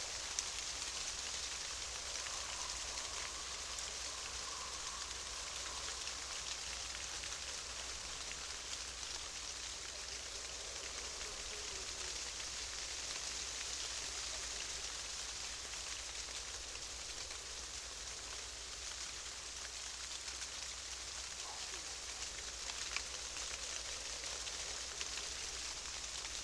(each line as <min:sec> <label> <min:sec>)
0:00.0 shivering aspen tree 0:26.4